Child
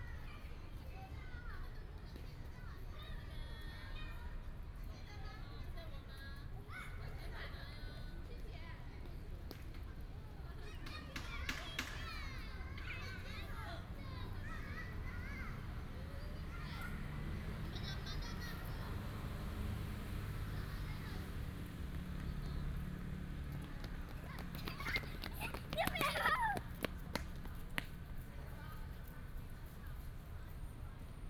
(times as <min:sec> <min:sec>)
0:10.4 0:22.8, 0:23.6 0:27.1